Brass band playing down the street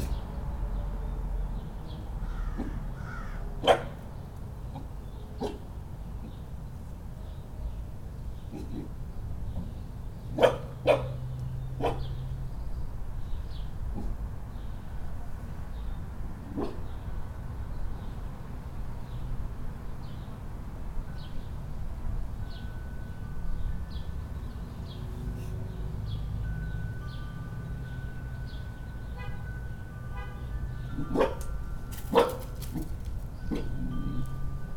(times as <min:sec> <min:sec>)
0:29.1 0:31.4